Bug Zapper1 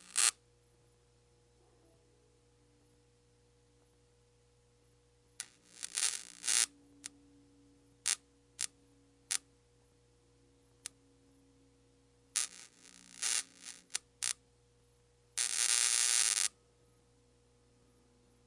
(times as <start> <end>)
0.0 0.4, 5.4 6.7